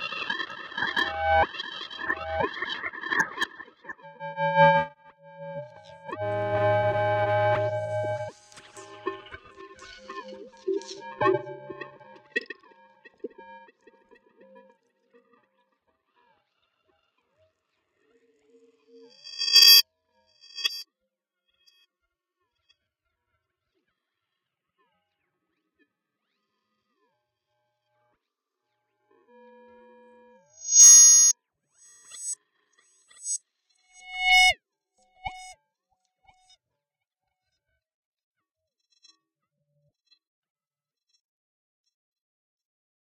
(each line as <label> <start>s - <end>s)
Feedback and interferences 30.6s - 31.3s